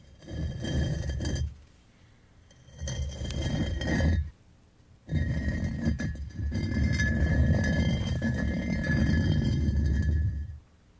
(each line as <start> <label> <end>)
0.0 Concrete blocks moved on top of one another 1.6
2.5 Concrete blocks moved on top of one another 4.3
5.1 Concrete blocks moved on top of one another 10.6